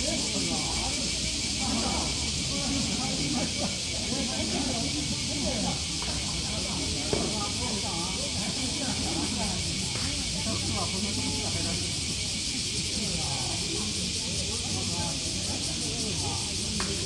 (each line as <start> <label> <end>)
0.0 Cicadas singing 17.0
0.0 people playing ground golf 17.0